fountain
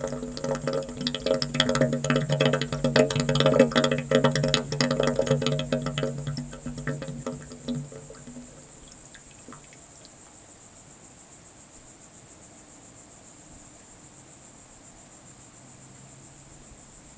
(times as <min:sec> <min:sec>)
0:00.0 0:10.2